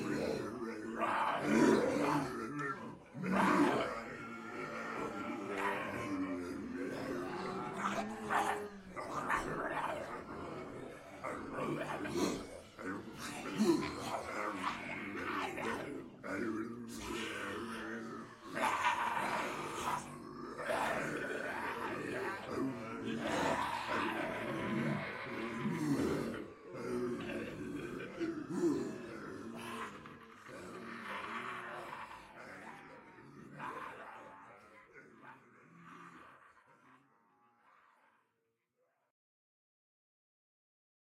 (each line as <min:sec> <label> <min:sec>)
0:00.0 people pretending to be zombies 0:38.4